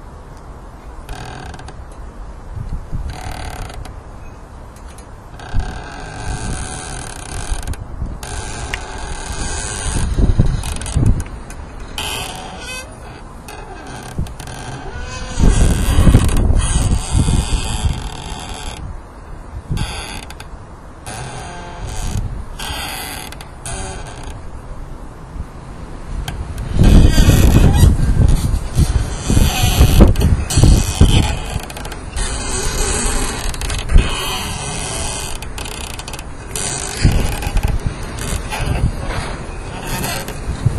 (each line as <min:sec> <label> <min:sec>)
0:00.0 thujas squeaking in the wind 0:40.7
0:05.3 rubbing against a wooden fence 0:18.8
0:26.3 rubbing against a wooden fence 0:40.7